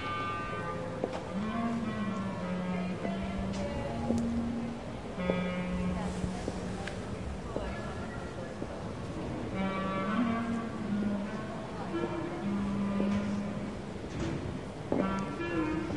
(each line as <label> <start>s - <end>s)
Someone playing clarinet 0.0s - 7.0s
people passing by 0.0s - 15.9s
Someone playing clarinet 9.4s - 14.1s
Someone playing clarinet 14.9s - 15.9s